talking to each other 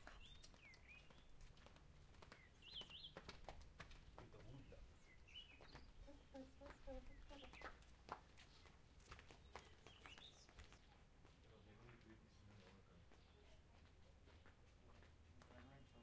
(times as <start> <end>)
5.9 7.7